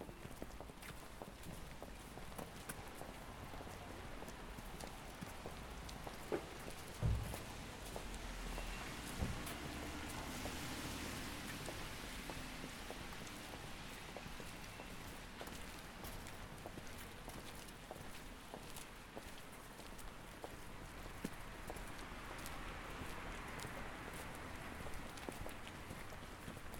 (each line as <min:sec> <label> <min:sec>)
0:00.0 walking together with 17 other people 0:26.7